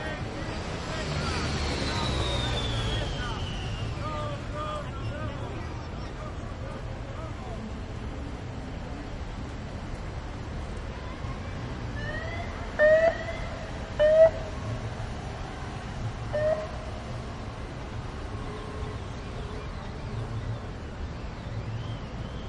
Bicycle demonstration 0:00.0 - 0:12.8

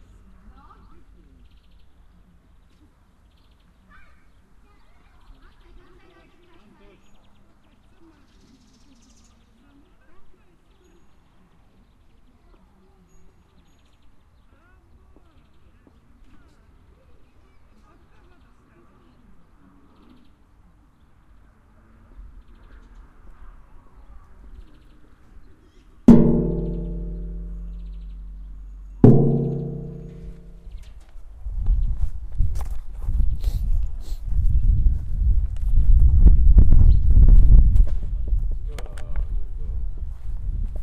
metal arythmic hits 0:26.1 - 0:30.9

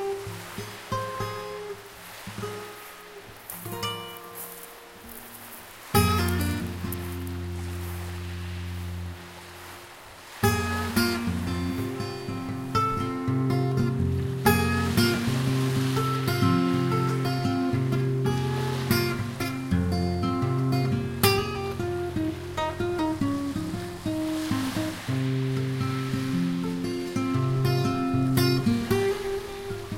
acoustic guitar improvisation 0:00.0 - 0:29.9
sea 0:00.0 - 0:29.9

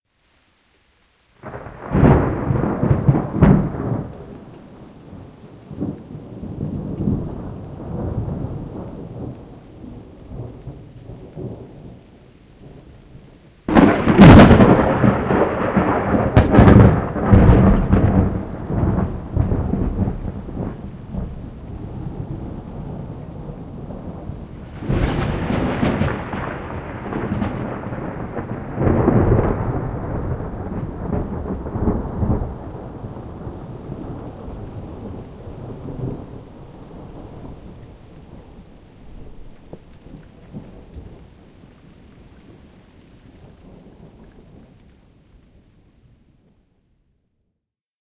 background rain 0:00.0 - 0:47.8
close-by lightning strikes 0:01.4 - 0:12.0
close-by lightning strikes 0:13.7 - 0:41.2

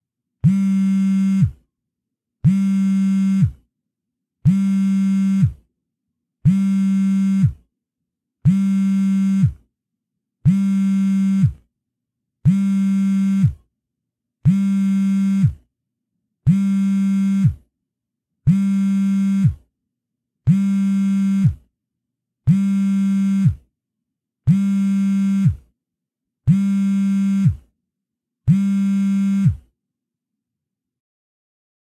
Cell Phone Vibrate 0:00.4 - 0:01.6
Cell Phone Vibrate 0:02.4 - 0:03.6
Cell Phone Vibrate 0:04.4 - 0:05.6
Cell Phone Vibrate 0:06.4 - 0:07.6
Cell Phone Vibrate 0:08.4 - 0:09.6
Cell Phone Vibrate 0:10.4 - 0:11.6
Cell Phone Vibrate 0:12.4 - 0:13.6
Cell Phone Vibrate 0:14.5 - 0:15.6
Cell Phone Vibrate 0:16.5 - 0:17.6
Cell Phone Vibrate 0:18.5 - 0:19.6
Cell Phone Vibrate 0:20.5 - 0:21.6
Cell Phone Vibrate 0:22.5 - 0:23.6
Cell Phone Vibrate 0:24.5 - 0:25.6
Cell Phone Vibrate 0:26.5 - 0:27.7
Cell Phone Vibrate 0:28.5 - 0:29.7

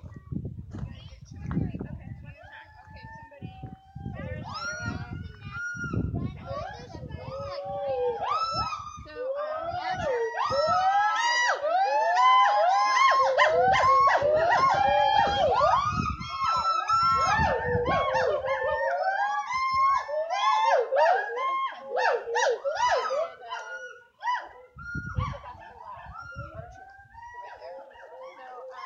other visitors of the sanctuary 0:00.0 - 0:28.8

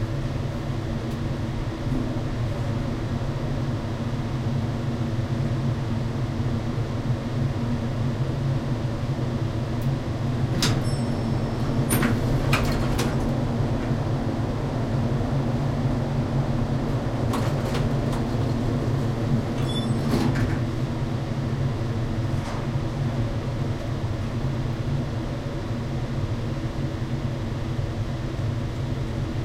heavy ventilation 0:00.0 - 0:29.4
elevator ride 0:08.8 - 0:26.6
doors open close 0:10.5 - 0:13.4
doors open close 0:17.3 - 0:20.7

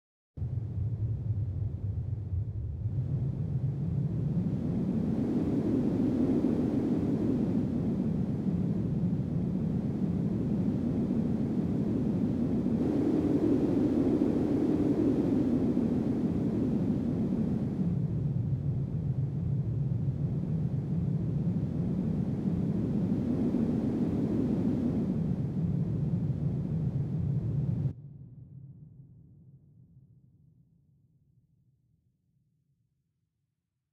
wind synth 0:02.2 - 0:27.9

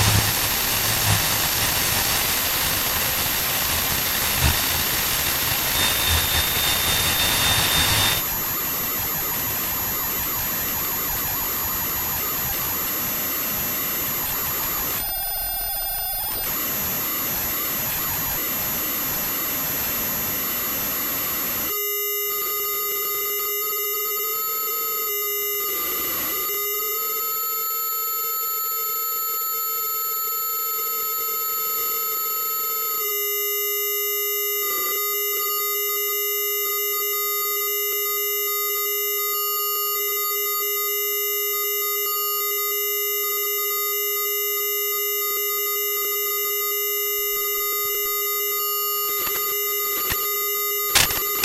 feedback loop 0:00.0 - 0:02.8
static from a small radio 0:00.0 - 0:15.1
feedback loop 0:03.4 - 0:08.2
static from a small radio 0:47.1 - 0:51.4

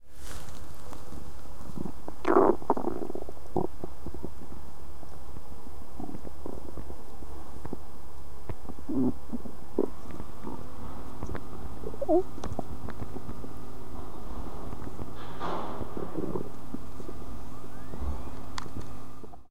stomach gurgling 0:00.8 - 0:19.5

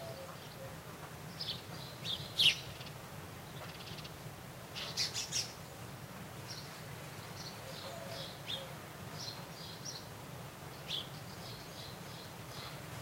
birds 0:00.0 - 0:13.0
wind 0:00.0 - 0:13.0

